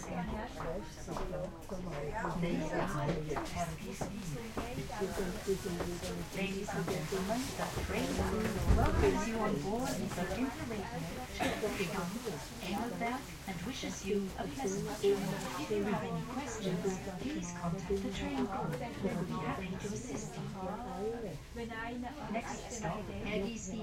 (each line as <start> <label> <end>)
0.0 people talking Swiss-german 23.8